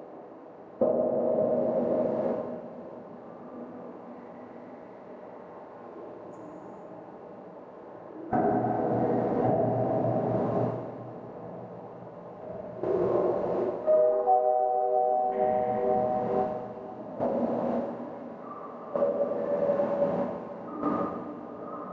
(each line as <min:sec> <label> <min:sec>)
0:12.9 Sine 0:16.9